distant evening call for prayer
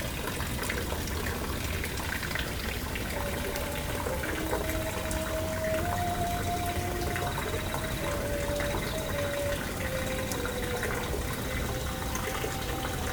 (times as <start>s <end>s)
2.8s 13.1s